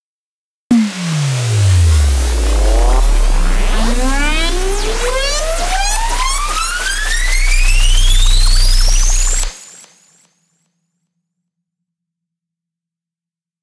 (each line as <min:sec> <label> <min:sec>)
0:00.7 chord 0:09.5
0:00.7 riser 0:09.6